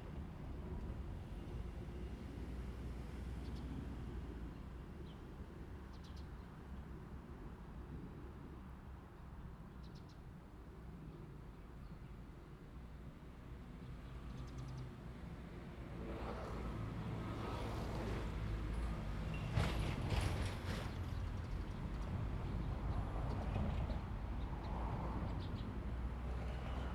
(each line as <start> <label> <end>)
16.0 The train runs through 26.9